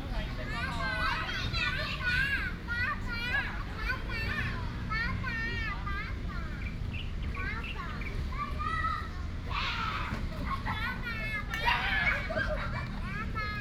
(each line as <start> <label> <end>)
0.0 traffic sound 13.6
6.2 Birds 9.4
7.6 Children play with their father 13.6